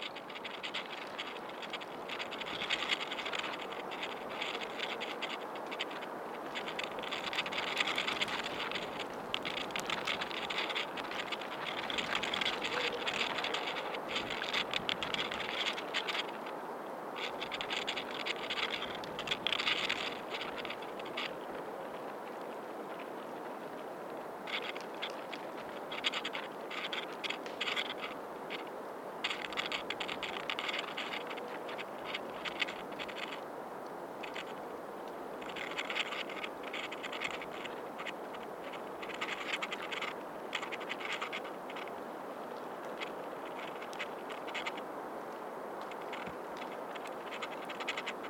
0.0s dried, curled up leaves on a branch 48.2s

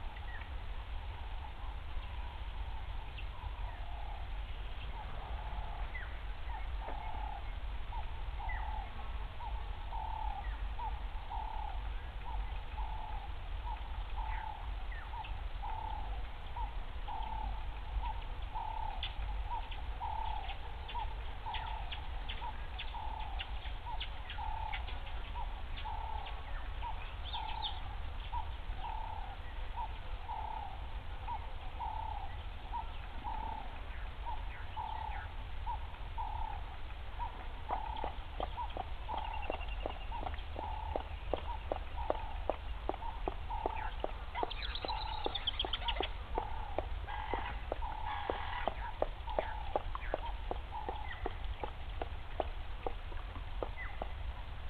37.2s Squirrels 54.5s
37.7s Leopard Drinking 54.5s

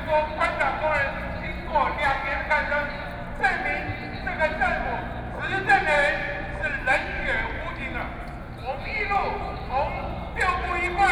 0.0s People and students 11.1s

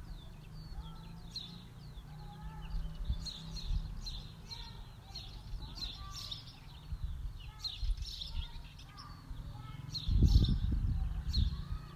0.0s birds 11.9s

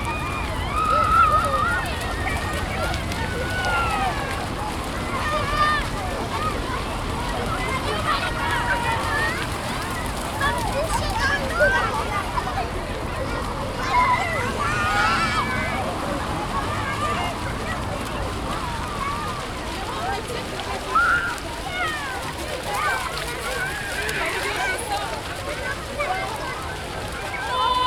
0.0s children running and shouting 27.8s

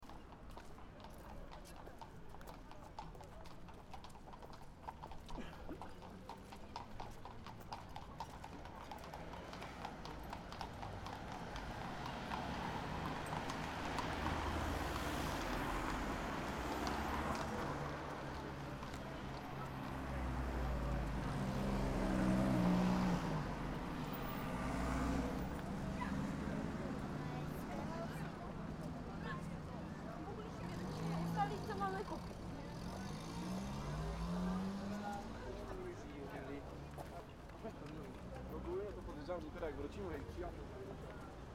0.0s Horses in traffic 41.5s

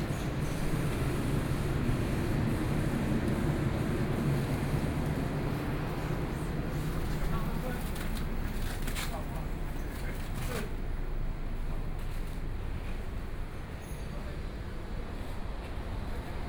0.0s Pedestrians 16.4s
0.0s Various shops voices 16.4s

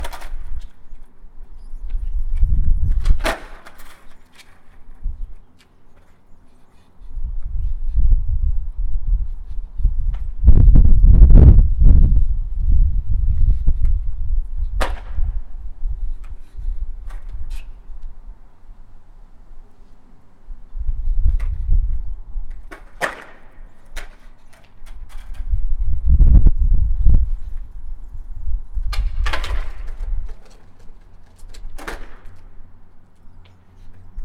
0.0s Skating 8.1s
12.7s Skating 18.2s
20.9s Skating 26.1s
28.8s Skating 34.2s

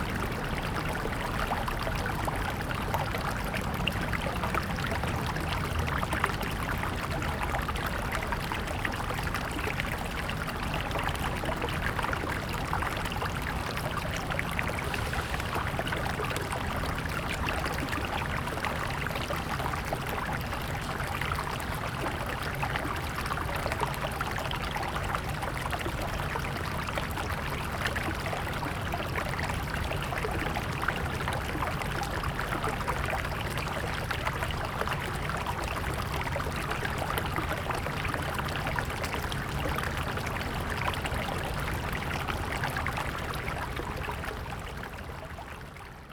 0.0s Stream sound 46.1s
14.2s Traffic Sound 16.8s

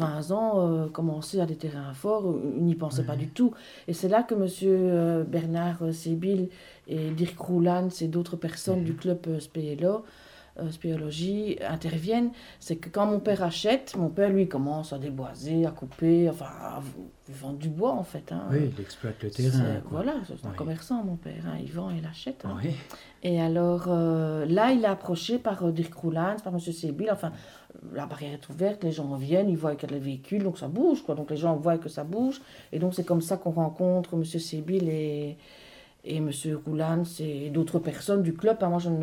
0.0s interview 10.0s
10.6s interview 35.3s

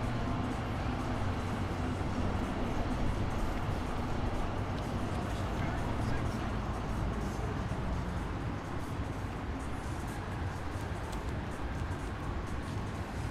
0.0s weg- und anfahrende Trams 13.3s

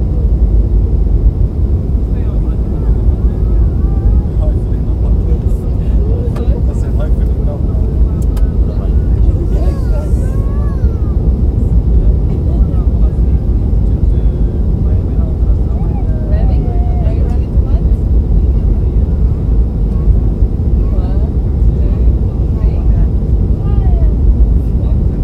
0.0s Plane descending and landing 25.2s

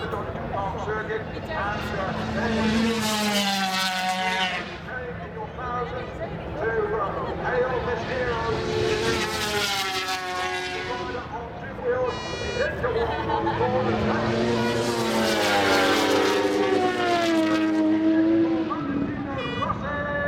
0.0s 500 cc motorcycle race 20.2s

